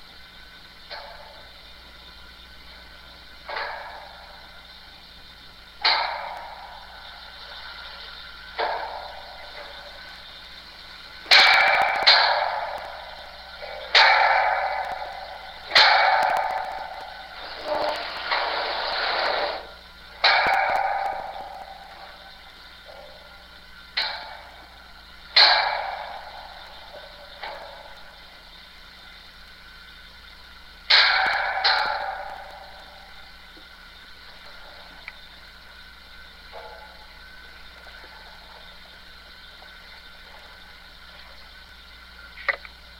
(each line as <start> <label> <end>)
0.0 heaters at my school make some very good spontaneous noises 42.9